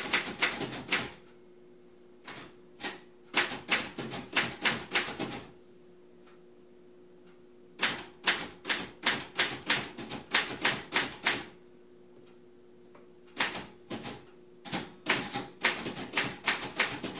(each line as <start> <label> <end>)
0.0 secretary typing on 1940s mechanical typewriter 1.2
2.3 secretary typing on 1940s mechanical typewriter 5.5
7.8 secretary typing on 1940s mechanical typewriter 11.5
13.4 secretary typing on 1940s mechanical typewriter 17.1